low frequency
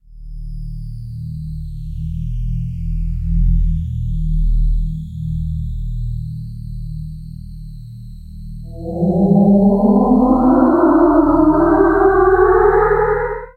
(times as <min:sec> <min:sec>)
0:08.7 0:13.5